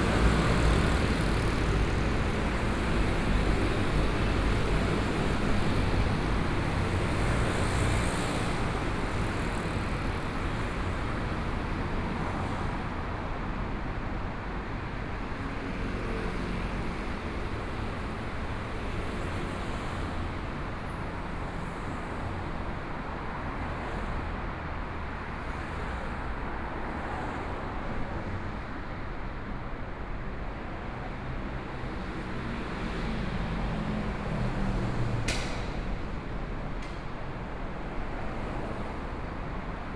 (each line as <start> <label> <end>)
0.0 Traffic Sound 39.9